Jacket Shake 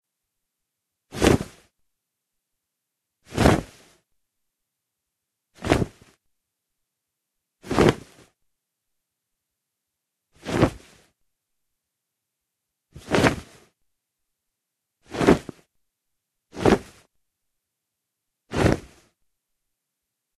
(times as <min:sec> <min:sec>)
0:01.1 0:01.6, 0:03.3 0:04.0, 0:05.6 0:06.2, 0:07.6 0:08.3, 0:10.4 0:11.1, 0:13.0 0:13.7, 0:15.1 0:15.6, 0:16.5 0:17.1, 0:18.5 0:19.1